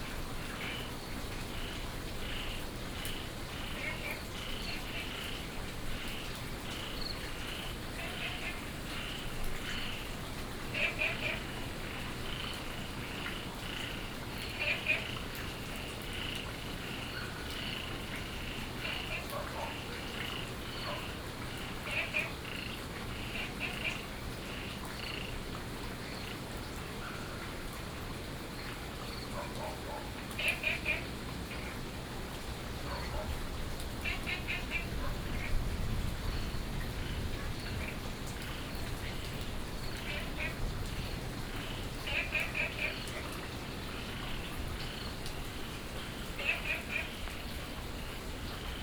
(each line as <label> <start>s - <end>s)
Frogs chirping 0.1s - 26.4s
Insects sounds 0.4s - 25.4s
Dogs barking 19.0s - 21.2s
Frogs chirping 28.5s - 33.3s
Dogs barking 29.3s - 31.0s
Dogs barking 32.8s - 33.6s
Frogs chirping 33.9s - 48.8s
Insects sounds 34.0s - 48.8s